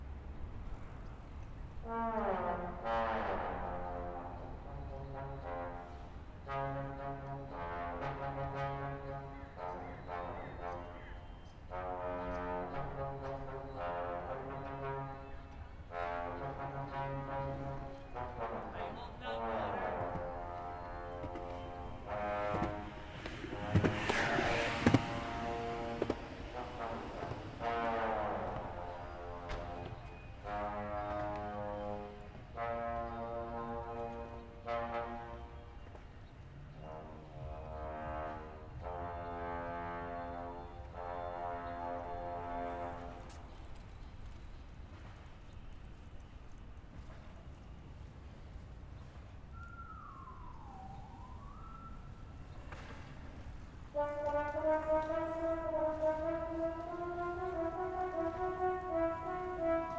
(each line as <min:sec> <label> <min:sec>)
0:01.8 horn sound 0:35.8
0:18.6 people talking 0:20.2
0:22.4 skateboards 0:27.6
0:23.0 bicycle 0:26.5
0:36.8 horn sound 0:43.6
0:43.2 bicycle 0:48.8
0:53.9 horn sound 0:59.9